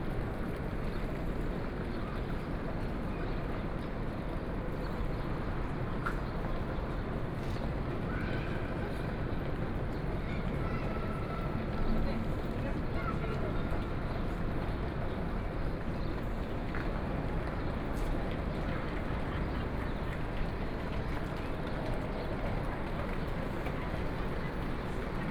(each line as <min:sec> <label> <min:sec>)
0:00.0 Walking in Airport Terminal 0:25.3